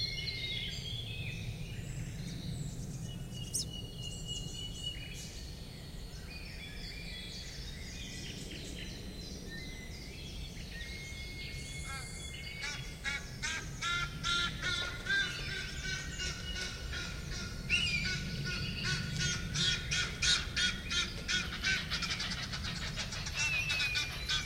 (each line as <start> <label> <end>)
11.7 Calls of the crows 24.4